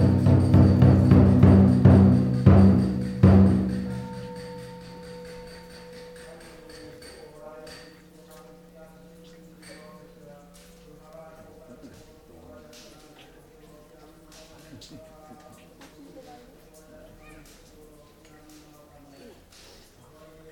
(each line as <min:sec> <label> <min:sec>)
0:00.0 drumming 0:08.0
0:00.0 chanting 0:20.5